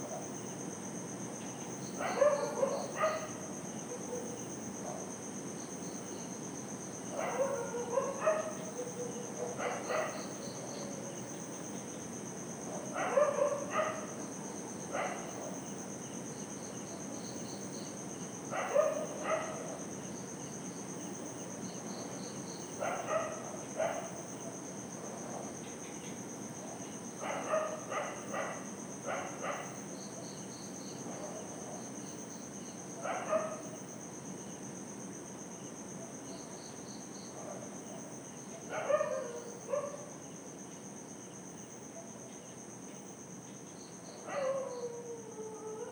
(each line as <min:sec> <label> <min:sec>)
0:00.0 cicadas 0:45.9
0:02.0 dogs barking 0:04.4
0:07.2 dogs barking 0:10.3
0:12.8 dogs barking 0:14.2
0:15.0 dogs barking 0:15.6
0:18.5 dogs barking 0:19.7
0:22.8 dogs barking 0:24.2
0:27.2 dogs barking 0:29.8
0:33.0 dogs barking 0:33.7
0:38.6 dogs barking 0:40.1
0:44.3 dogs barking 0:45.1